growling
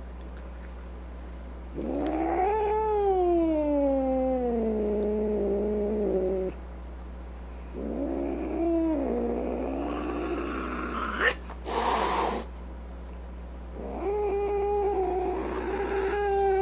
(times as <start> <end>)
1.8 6.6, 7.8 12.5, 13.8 16.6